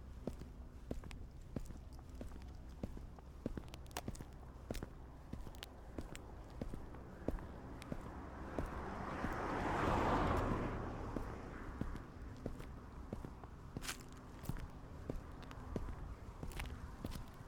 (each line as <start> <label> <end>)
13.8 Dry leaves 14.7